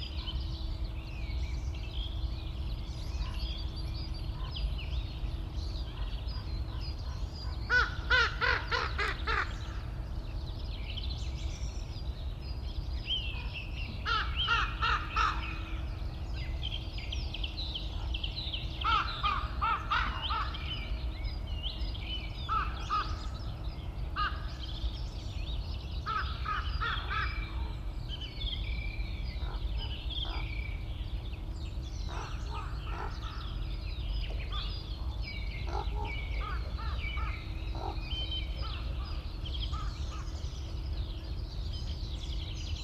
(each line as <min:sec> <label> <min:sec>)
0:00.0 Very distant cranes 0:42.8
0:00.0 song thrush 0:42.8
0:05.9 ravens 0:10.0
0:07.7 crows 0:09.8
0:13.3 ravens 0:15.9
0:14.0 crows 0:15.7
0:17.8 ravens 0:21.0
0:18.8 crows 0:20.7
0:22.5 crows 0:23.4
0:26.0 crows 0:27.7
0:29.3 ravens 0:31.0
0:29.4 crows 0:30.5
0:32.0 ravens 0:40.6
0:32.1 crows 0:33.6
0:35.6 crows 0:40.3